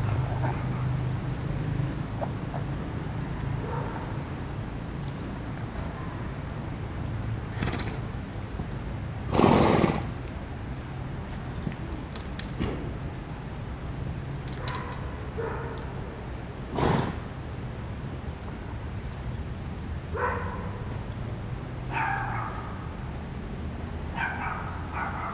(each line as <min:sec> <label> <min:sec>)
0:07.4 Horses 0:10.2
0:16.7 Horses 0:17.3